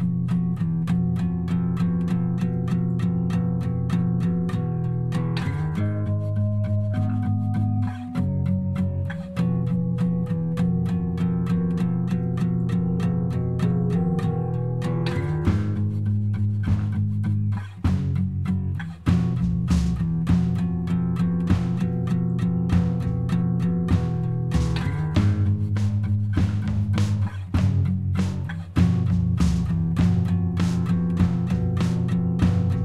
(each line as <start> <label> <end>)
0.0 guitar 32.8
5.3 drums 6.1
13.6 drums 32.8